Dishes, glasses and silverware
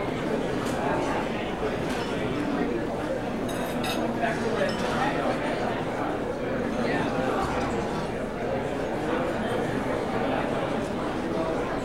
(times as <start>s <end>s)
3.5s 5.0s